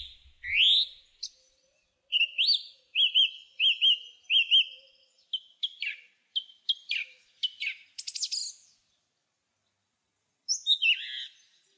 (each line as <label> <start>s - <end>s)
Song Thrush singing from a branch 0.0s - 9.0s
Song Thrush singing from a branch 10.5s - 11.7s